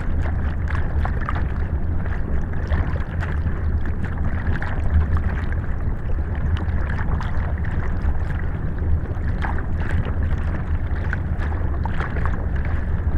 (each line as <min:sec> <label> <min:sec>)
0:00.0 Small dam 0:13.1